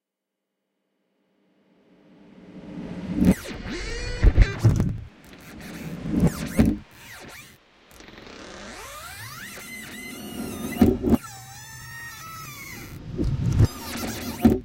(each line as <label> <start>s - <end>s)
ghost scratching noise 2.2s - 11.3s
Creaking 3.1s - 14.6s
Squeak 3.3s - 14.6s
ghost scratching noise 12.4s - 14.6s